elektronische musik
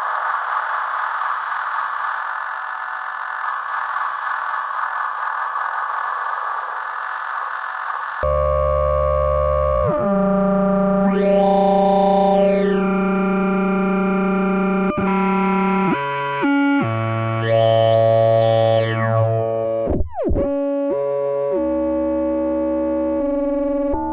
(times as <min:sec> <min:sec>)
0:08.3 0:24.1